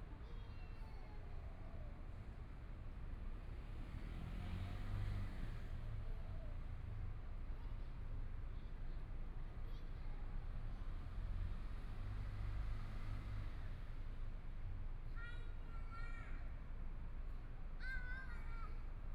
0.0s Traffic Sound 19.1s
15.0s Mother and child 19.1s

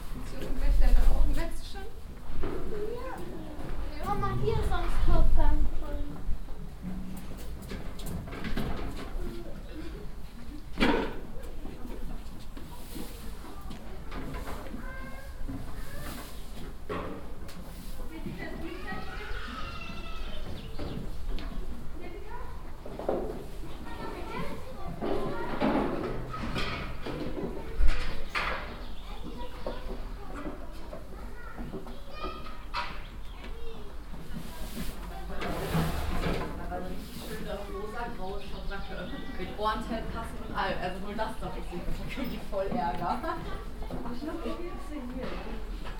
0.0s steps and kids on the cobble stone pavement 45.9s

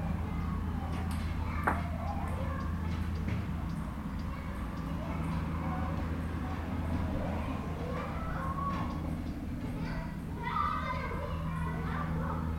0.2s enfants jouent au ping pong 6.2s

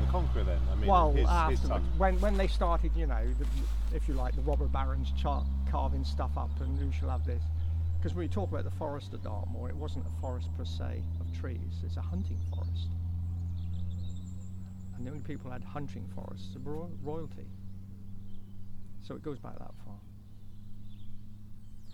0.0s Talk to Dartmoor Park Ranger 13.0s
14.6s Talk to Dartmoor Park Ranger 17.6s
19.0s Talk to Dartmoor Park Ranger 20.2s

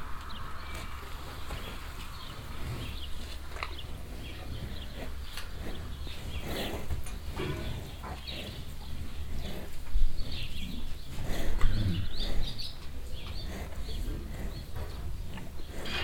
0.2s mouthes and tongues 16.0s

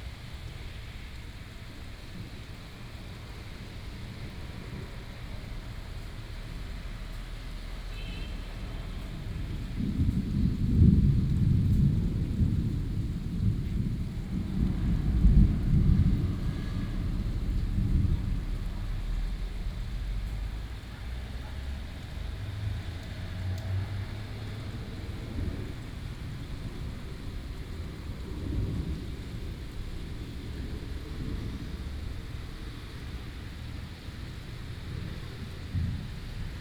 0.1s Traffic sound 36.6s
8.5s Thunderstorms 36.6s

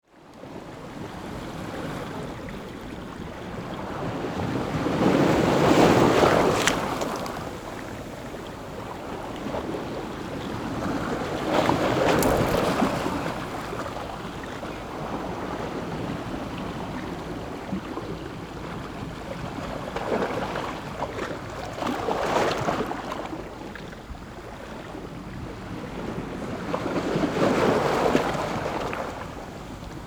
0.2s waves 30.0s

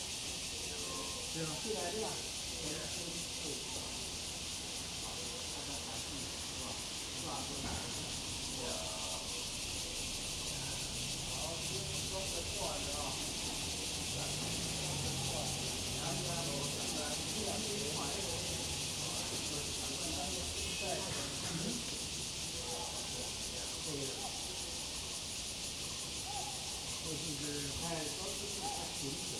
0.0s Cicadas cry 29.3s
0.0s elderly people are doing aerobics 29.3s
4.0s Traffic Sound 29.3s

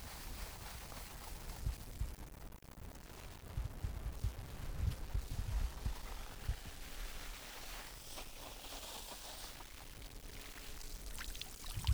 5.8s ramassage de fleur de sel 11.9s

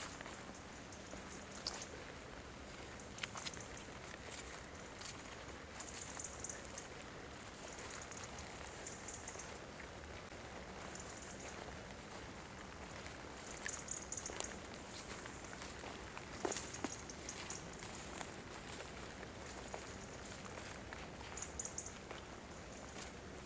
0.0s walking on muddy terrain 23.4s

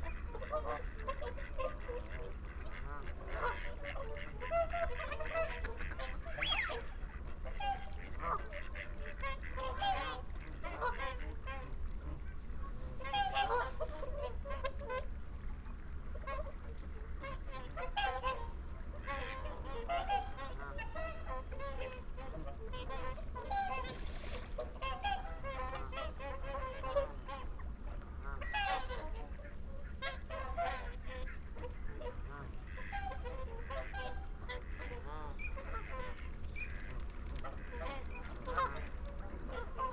0.0s moorhen 14.8s
0.0s flock of barnacle geese over fly the hide 39.9s
0.0s mallard 15.1s
16.2s mallard 39.9s

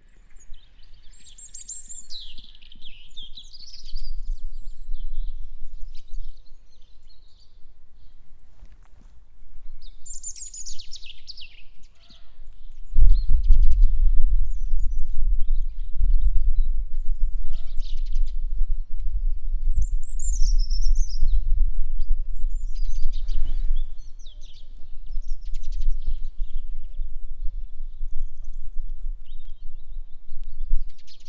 0.0s bird song 8.4s
9.6s bird song 31.2s

